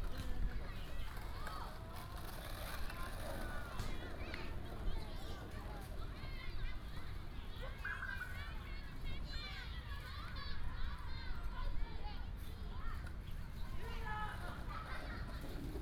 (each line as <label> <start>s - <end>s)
Child 0.0s - 15.8s